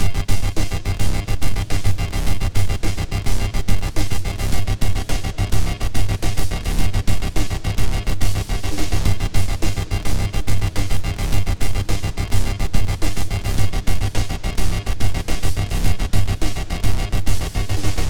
Pitch-shifted distorted tone generator 0:00.0 - 0:18.0

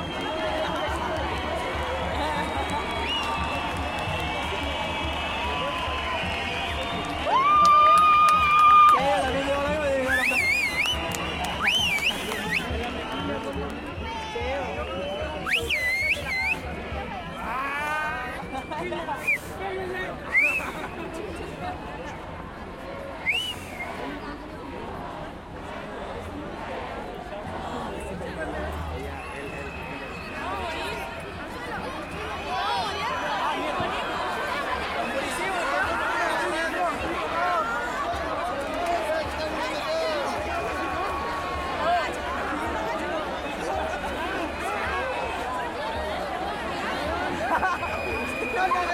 crowd 0:00.0 - 0:48.9

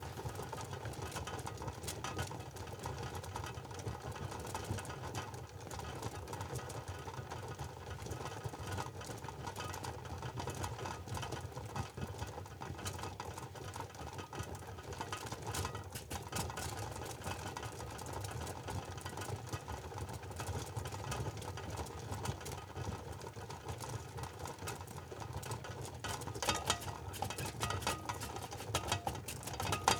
soup is cooked in a saucepan 0:26.0 - 0:29.9
lid 0:26.0 - 0:29.9

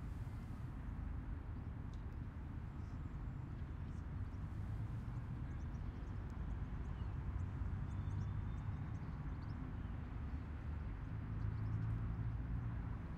aircraft 0:00.0 - 0:13.1

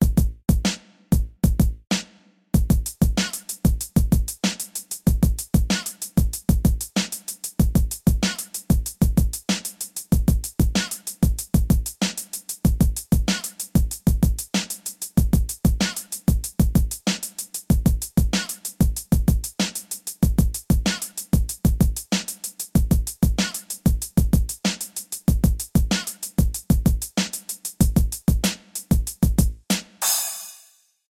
bass 0:00.0 - 0:01.8
Hip hop drum beat 0:00.0 - 0:30.7
bass 0:29.0 - 0:29.6

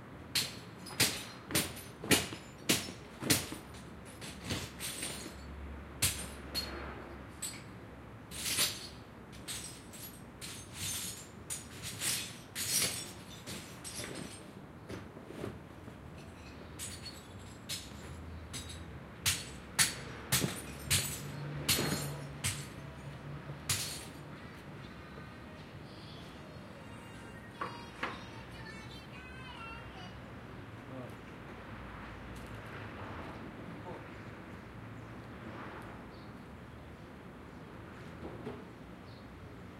man is hammering some glass an ceramics 0:00.3 - 0:06.8
man is hammering some glass an ceramics 0:16.2 - 0:24.2

